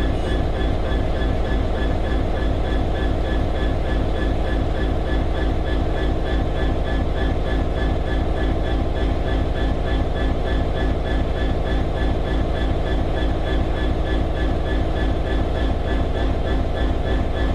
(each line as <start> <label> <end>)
0.0 diesel engine, idling 17.5